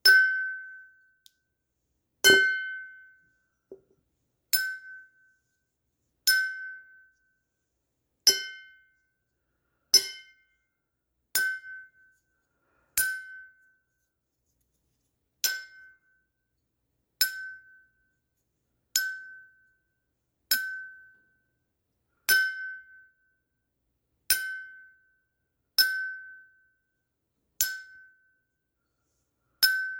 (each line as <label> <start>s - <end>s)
Glass vase dings 2.2s - 2.9s